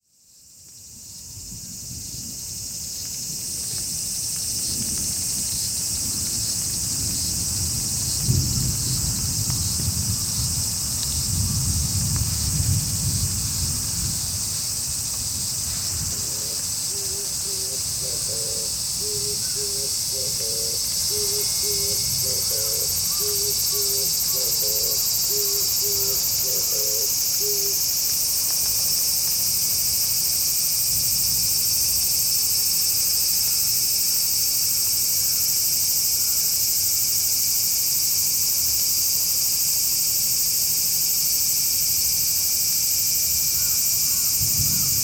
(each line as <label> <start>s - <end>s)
Cicadas 0.0s - 45.0s
raining very lightly 1.8s - 19.0s
thunder 3.2s - 16.6s